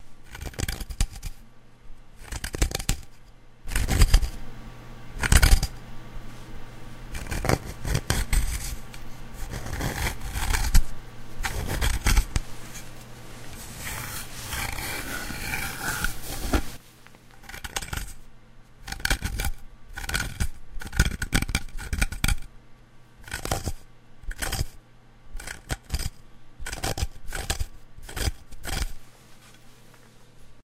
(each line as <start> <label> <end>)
7.1 wood scratch 16.8
17.4 wood scratch 18.2
23.2 wood scratch 24.7
25.4 wood scratch 26.1
26.7 wood scratch 29.0